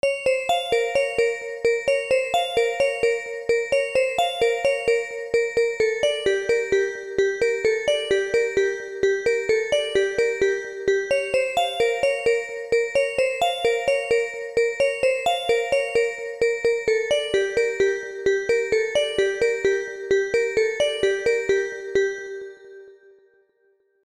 Bell 0:00.0 - 0:22.8

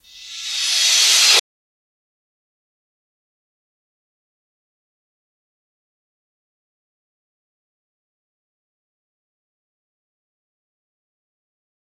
Reverse Cymbals 0:00.0 - 0:01.4

